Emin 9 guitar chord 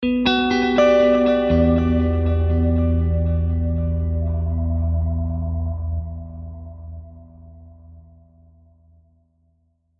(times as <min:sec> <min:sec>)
0:00.0 0:07.7